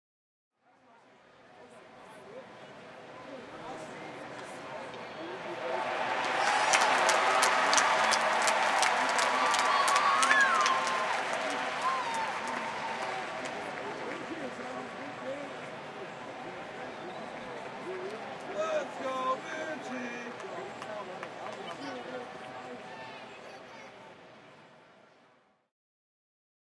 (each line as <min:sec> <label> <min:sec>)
0:04.4 cheering 0:24.2
0:05.3 applause 0:23.1